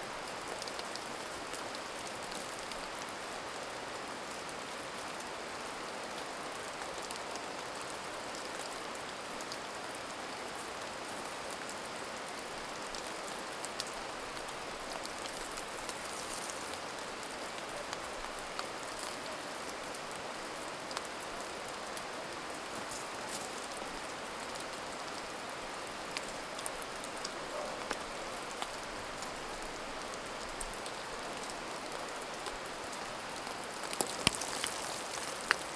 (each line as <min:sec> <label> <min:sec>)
0:00.0 small stream 0:35.7
0:05.4 snow falling from trees 0:27.4
0:28.4 snow falling from trees 0:35.7